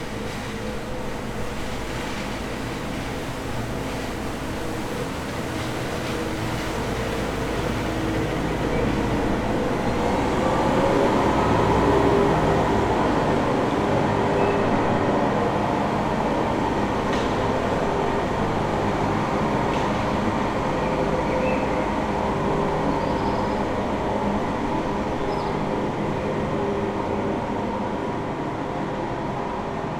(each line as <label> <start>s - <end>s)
Street sweeper 0.0s - 29.9s